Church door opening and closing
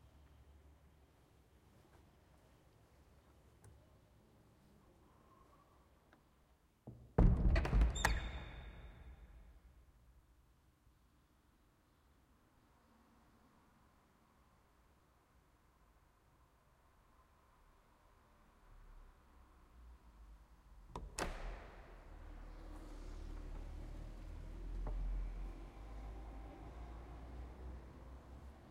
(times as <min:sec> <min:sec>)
0:06.9 0:09.7, 0:20.8 0:26.0